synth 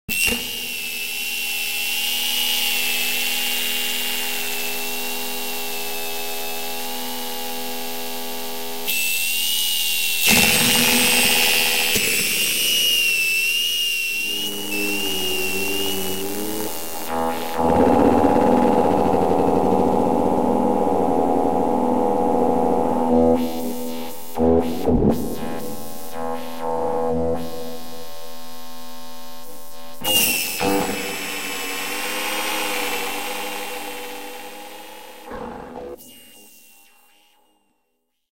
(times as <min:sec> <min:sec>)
0:14.1 0:37.5